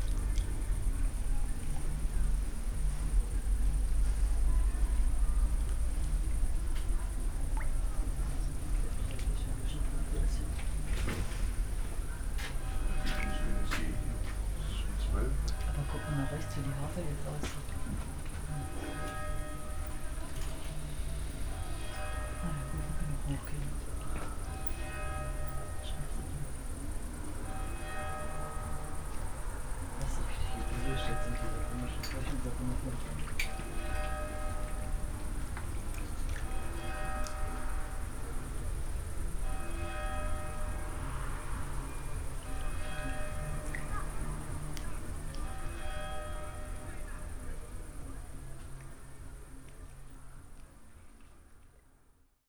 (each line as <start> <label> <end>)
11.6 distant party 35.8
12.2 church bells 48.4
13.1 people talking 19.1
22.4 people talking 24.3
30.0 people talking 33.4